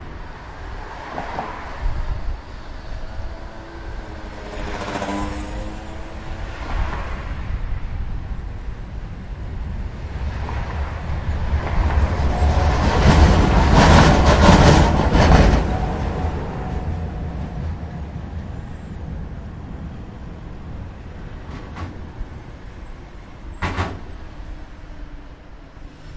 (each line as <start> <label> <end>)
0.0 Bridge Traffic 26.1
0.0 Tram 26.1
23.5 Cars going of bridge join makes clunk noise 24.3